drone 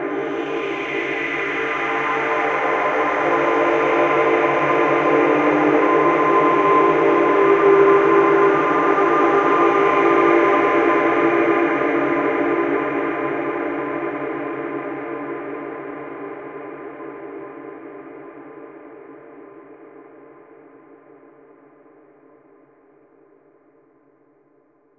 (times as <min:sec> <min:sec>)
0:00.0 0:14.4